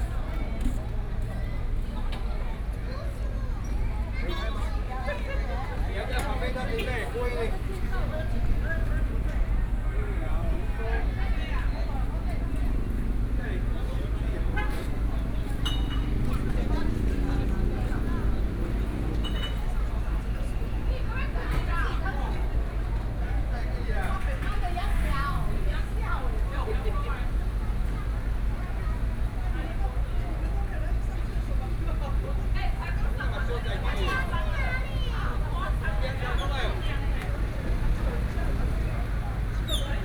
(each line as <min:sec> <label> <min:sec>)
0:00.0 Traffic Sound 0:40.0
0:00.0 walking on the Road 0:40.0